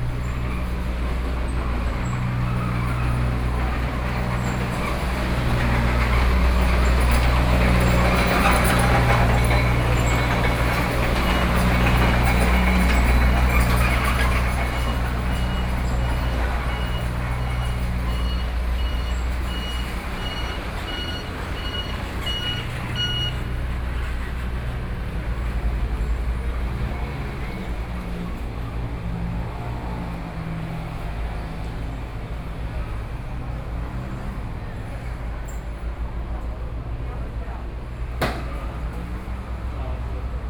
Construction noise 0.0 - 40.4
Traffic Sound 0.0 - 40.4
Walking through the traditional market 0.0 - 40.4

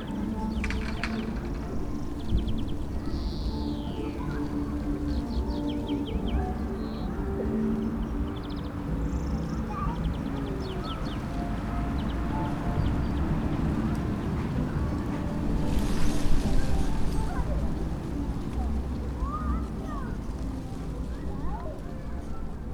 creaking fence 0.0 - 3.6
dry leaves of a bush in the wind 0.0 - 22.7
music of a fair (in the distance) 0.0 - 22.7

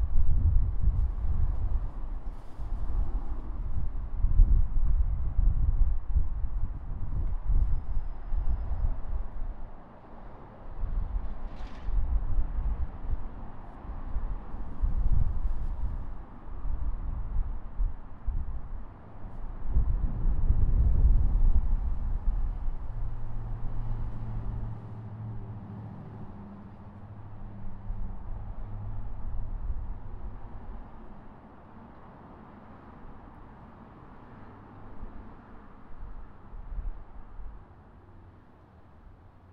an airplane 0.0 - 39.5
Cars 20.8 - 39.5

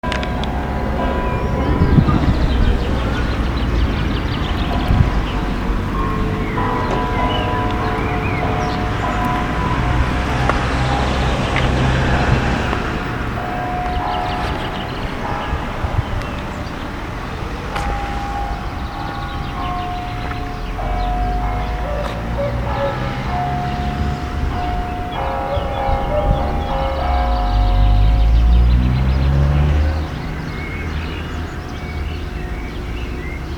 traffico 0.0 - 33.5

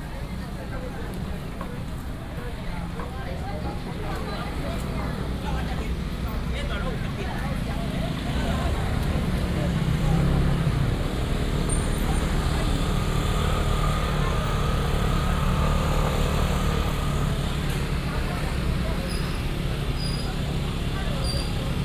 Street vendors selling voice 0.0 - 21.8
motorcycle sounds 7.6 - 21.8

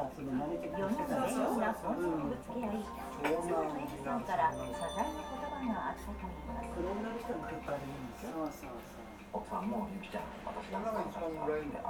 tv show and commercials 0.0 - 10.6

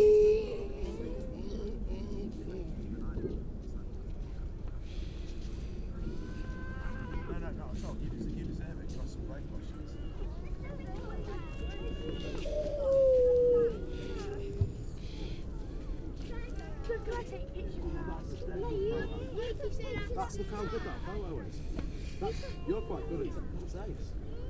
grey seals 12.0 - 15.4

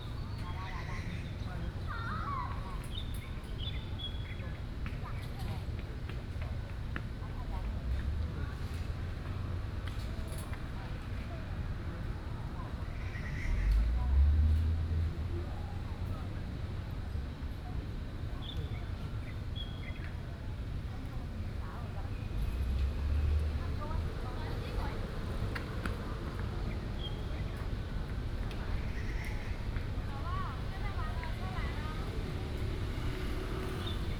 Children in the park 0.0 - 34.1
Traffic Sound 20.0 - 34.1

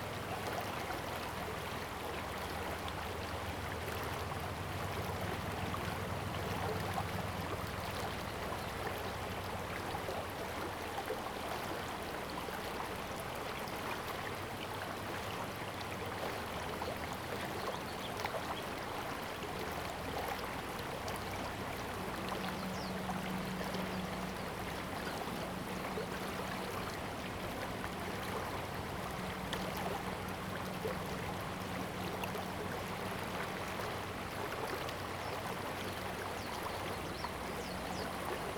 Stream 0.0 - 38.5

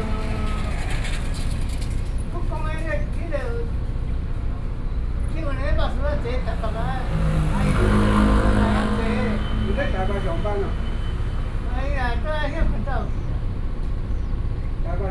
Traffic Sound 0.0 - 15.1

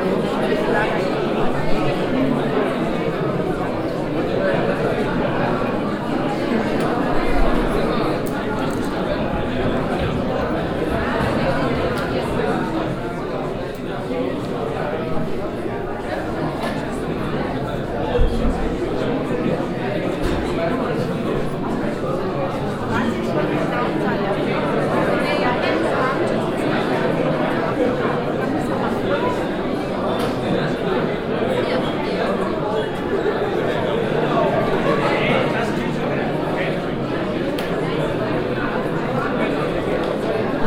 crowded with visitors 0.0 - 40.6

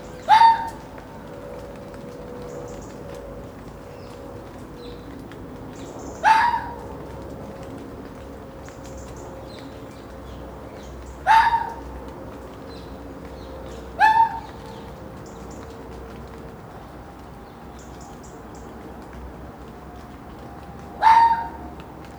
Foxes 0.0 - 19.1
Planes 0.0 - 22.1
Rain 0.0 - 22.1
Foxes 19.7 - 22.1

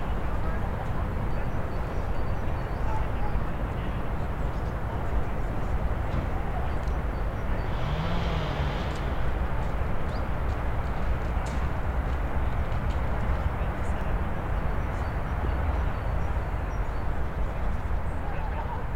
walkers 0.0 - 17.8
city in the background 0.0 - 18.9
chainsaw 7.7 - 9.2

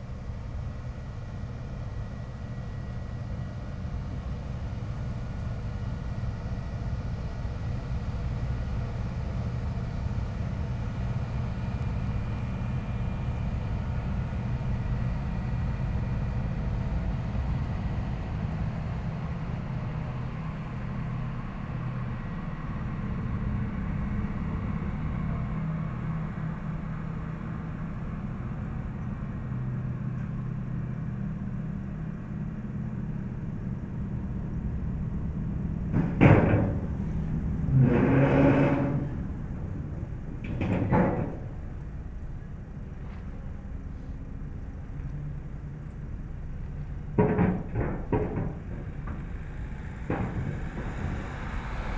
Ferry 0.0 - 51.9

